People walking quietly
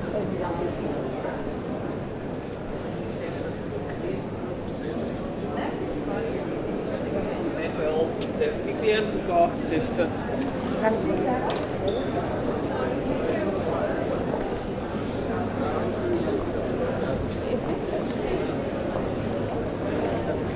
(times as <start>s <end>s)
8.1s 20.5s